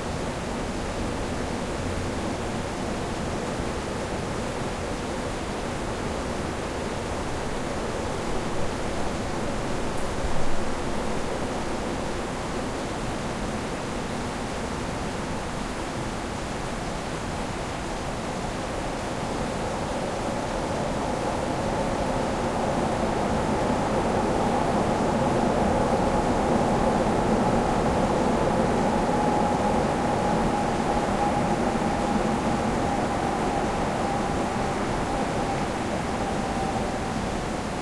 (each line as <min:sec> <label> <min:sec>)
0:00.0 subway driving by 0:37.8